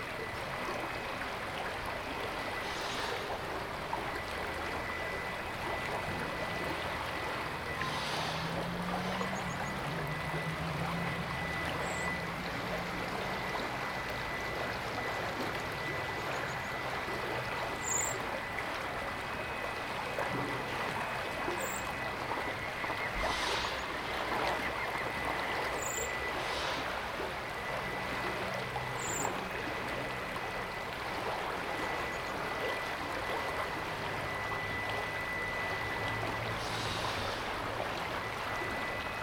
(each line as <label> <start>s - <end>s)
river keeps flowing 0.0s - 39.2s
bird life 7.8s - 18.6s
bird life 20.9s - 29.5s